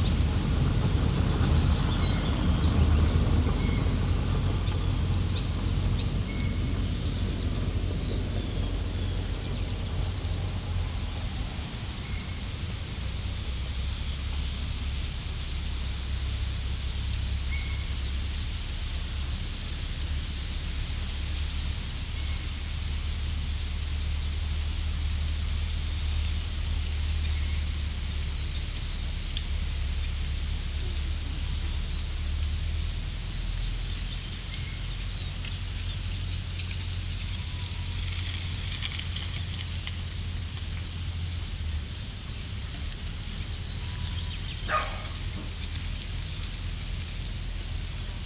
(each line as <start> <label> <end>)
0.0 passing car on gravel road 22.4
0.0 bicycle 48.2
0.0 grasshoppers 48.2
34.3 passing car on gravel road 48.2
44.7 dog 45.3